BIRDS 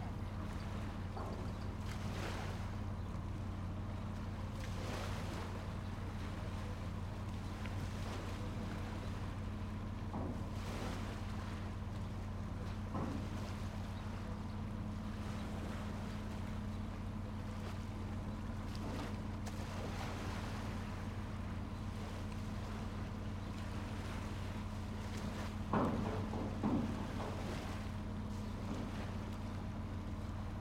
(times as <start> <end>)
0.1 4.7, 11.1 19.5, 20.7 30.5